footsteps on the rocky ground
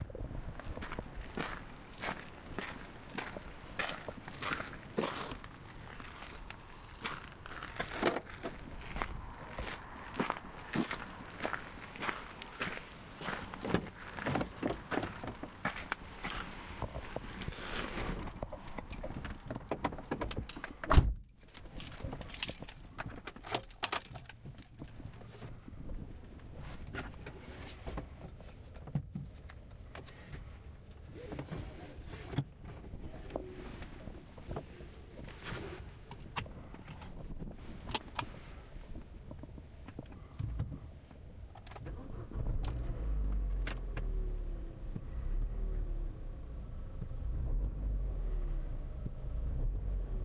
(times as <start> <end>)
0.2 19.3